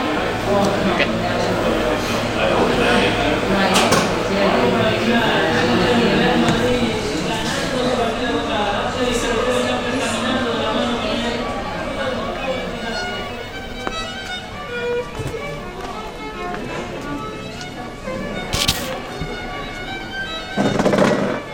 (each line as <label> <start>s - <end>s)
violinist is playing irish folk tune 13.0s - 21.5s